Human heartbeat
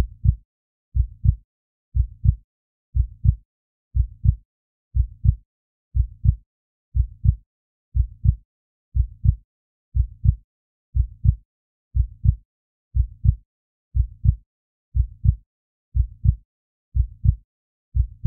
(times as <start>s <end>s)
0.0s 0.4s, 1.0s 1.4s, 2.0s 2.4s, 3.0s 3.4s, 4.0s 4.4s, 5.0s 5.4s, 6.0s 6.4s, 7.0s 7.4s, 8.0s 8.4s, 9.0s 9.4s, 10.0s 10.4s, 11.0s 11.4s, 12.0s 12.4s, 13.0s 13.4s, 14.0s 14.4s, 15.0s 15.4s, 16.0s 16.4s, 17.0s 17.4s, 18.0s 18.2s